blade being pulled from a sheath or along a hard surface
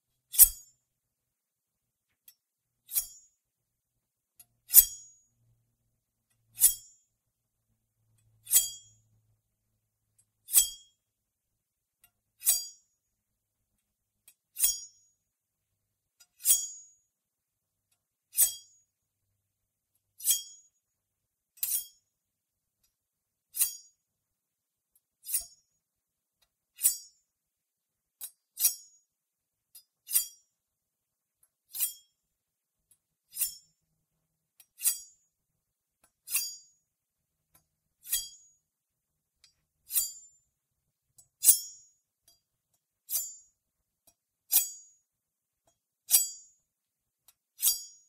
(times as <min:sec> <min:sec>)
0:02.9 0:03.2, 0:33.3 0:33.6, 0:34.8 0:35.1